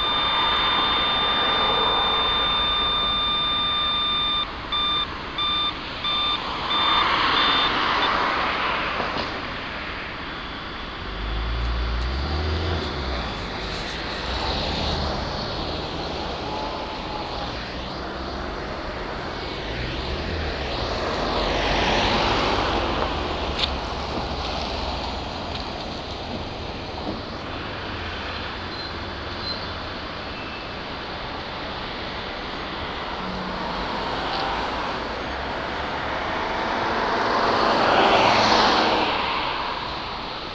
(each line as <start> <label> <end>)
0.0 Pedestrian crossing 40.5